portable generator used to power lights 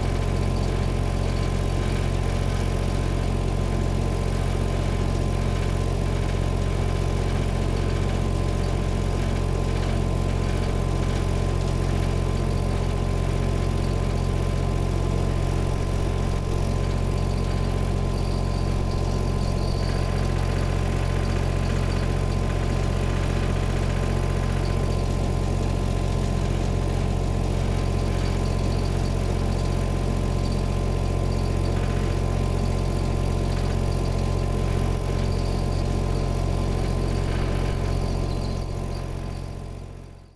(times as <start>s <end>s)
13.3s 40.3s